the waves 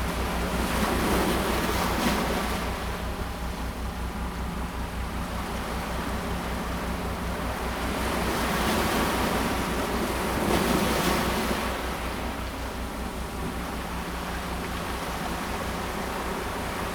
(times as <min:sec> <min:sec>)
0:05.1 0:16.9